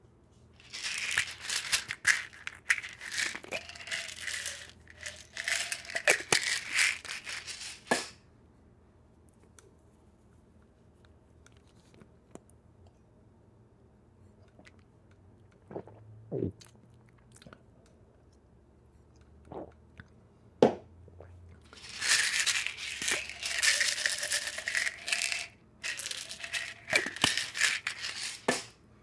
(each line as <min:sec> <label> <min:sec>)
0:00.6 Opening pill bottle 0:08.1
0:00.7 swallowing pill 0:06.4
0:15.5 swallowing pill 0:17.6
0:19.2 swallowing pill 0:20.1
0:21.7 Opening pill bottle 0:28.8